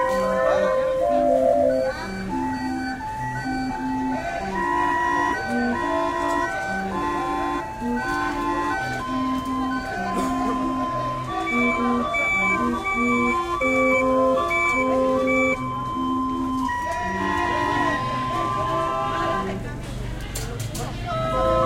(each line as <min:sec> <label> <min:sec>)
0:00.0 clown music 0:19.7
0:21.0 clown music 0:21.6